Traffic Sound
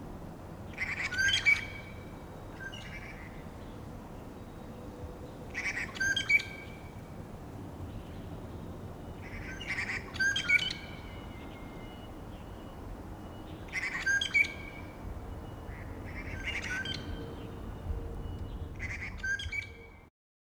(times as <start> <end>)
14.6 19.1